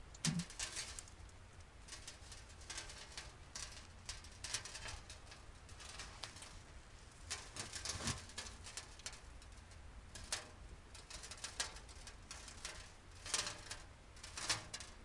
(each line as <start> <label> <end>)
1.9 sand pour on metal 9.2
10.1 sand pour on metal 15.0